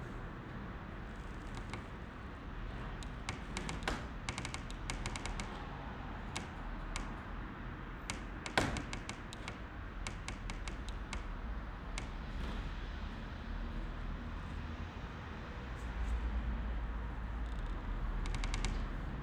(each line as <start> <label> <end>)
0.0 various squeaking windows 12.7
17.2 various squeaking windows 19.2